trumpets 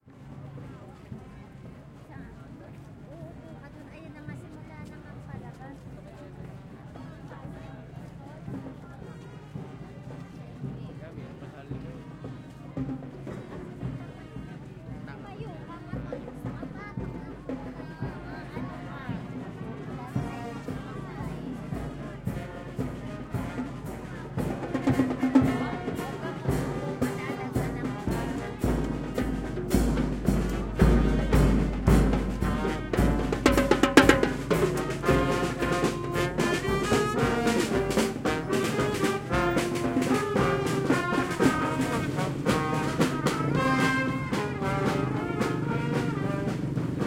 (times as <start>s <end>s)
18.8s 47.0s